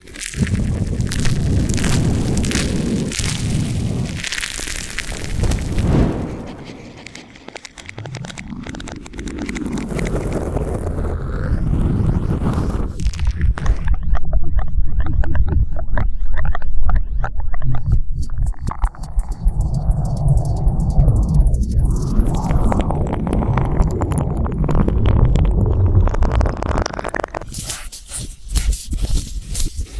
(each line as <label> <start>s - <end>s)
close-up squishy sloshy organic sounds 0.0s - 5.9s